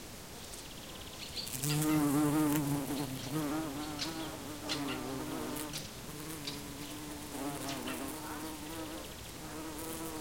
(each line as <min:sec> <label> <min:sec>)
0:01.3 Bees and bumblebees are buzzing 0:10.2